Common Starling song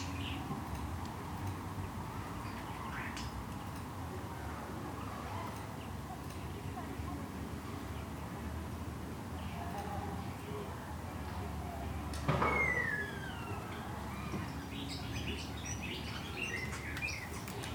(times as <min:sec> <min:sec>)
0:12.5 0:17.7